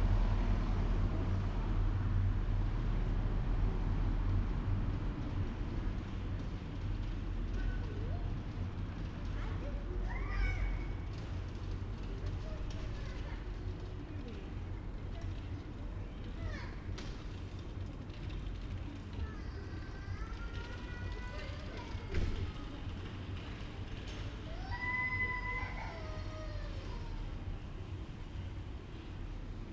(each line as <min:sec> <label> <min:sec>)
0:00.0 bus 0:29.7
0:00.0 tram 0:29.7